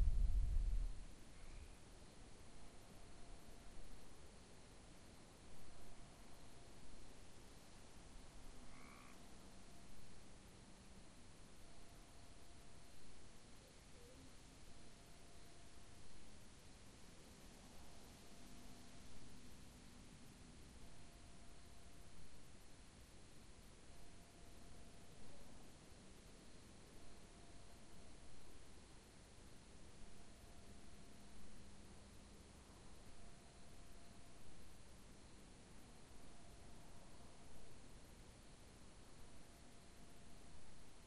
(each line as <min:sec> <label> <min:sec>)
0:08.6 frogs croaking 0:09.3